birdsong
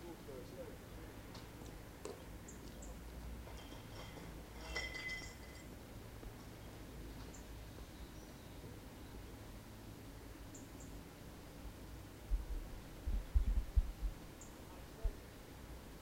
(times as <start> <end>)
2.0 3.1, 6.4 9.4, 10.2 11.1, 14.3 15.0